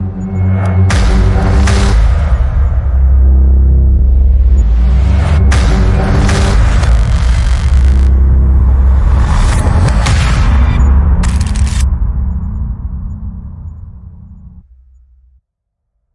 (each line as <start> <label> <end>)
0.9 drums 3.4
4.0 drums 11.8